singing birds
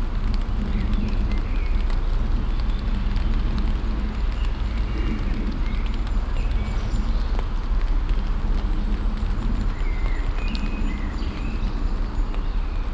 0:09.6 0:12.9

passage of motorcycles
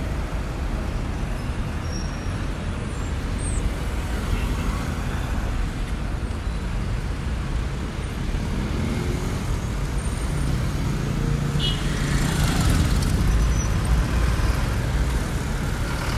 0:07.6 0:16.1

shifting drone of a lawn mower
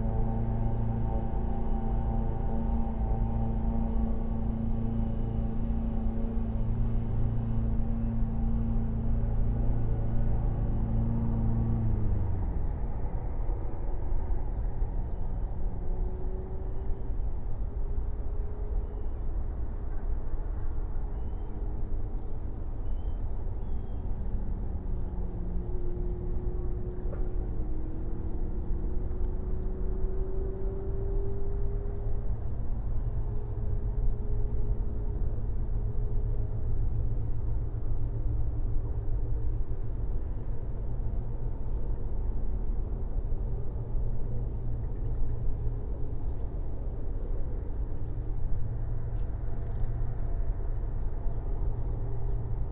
0:00.0 0:17.8

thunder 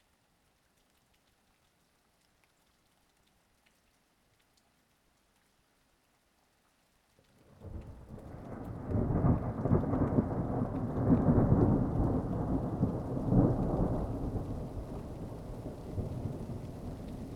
0:07.6 0:17.3

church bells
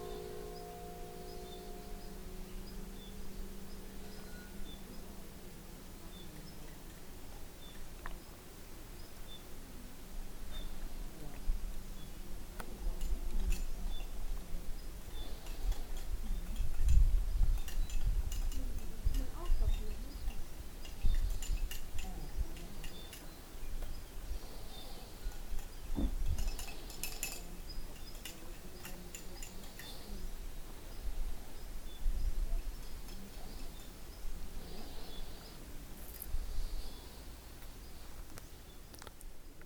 0:00.0 0:05.6

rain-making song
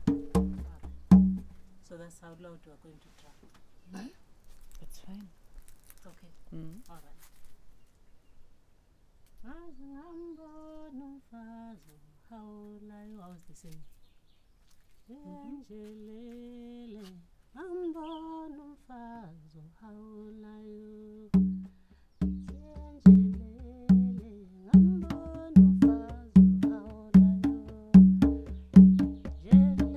0:21.4 0:29.9

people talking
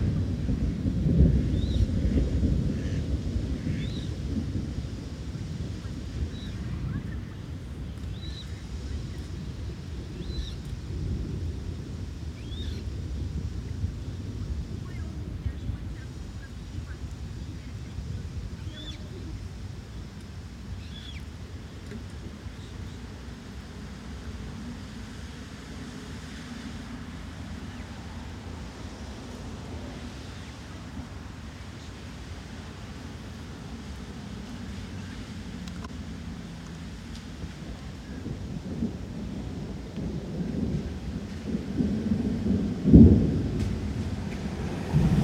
0:06.6 0:07.8, 0:14.8 0:19.5

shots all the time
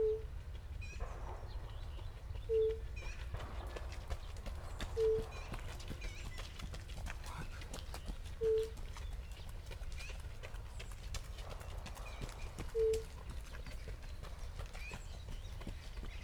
0:00.8 0:07.6

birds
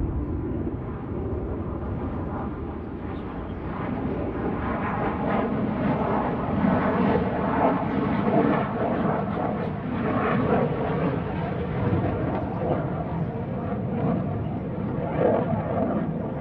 0:01.8 0:05.2

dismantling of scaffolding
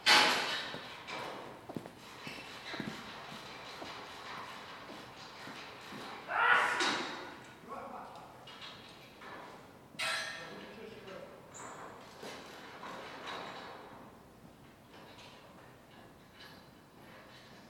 0:00.0 0:07.4

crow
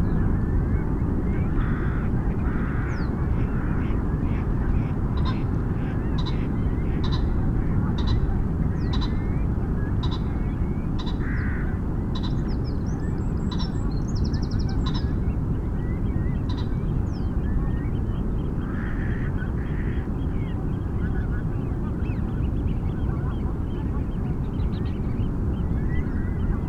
0:01.4 0:03.8, 0:11.0 0:11.8

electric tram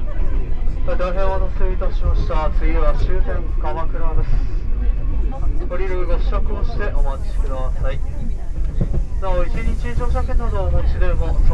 0:06.5 0:11.5

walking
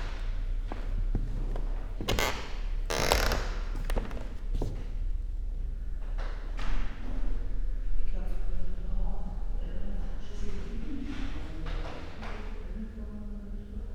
0:00.0 0:05.1

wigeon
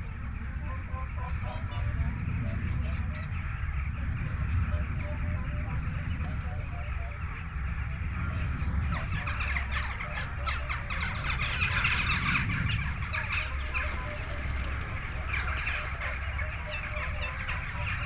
0:09.0 0:18.0

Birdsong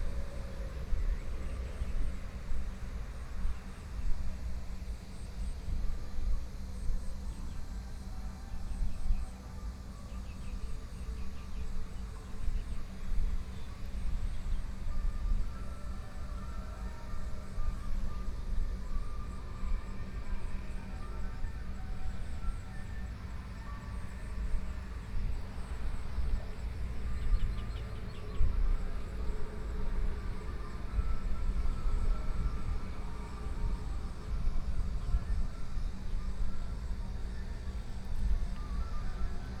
0:25.9 0:29.2

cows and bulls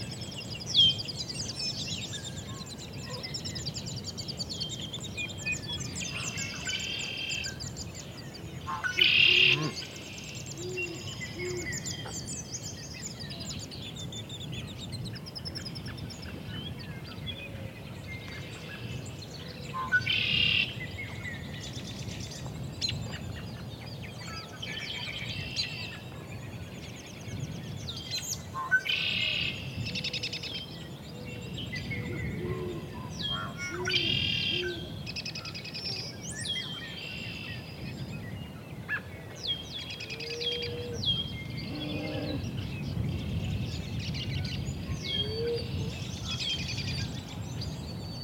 0:09.4 0:09.9, 0:41.6 0:42.5

